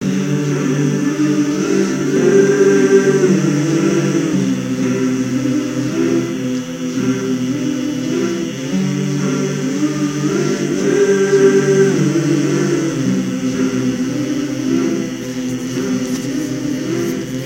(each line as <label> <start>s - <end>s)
synth 0.0s - 17.4s
vocal loops 0.0s - 17.4s